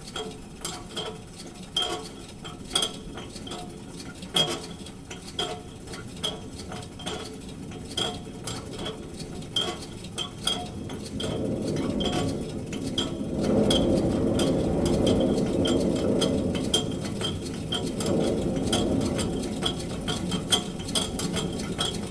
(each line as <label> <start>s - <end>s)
strange sounds inside the ventilation tube 10.4s - 22.1s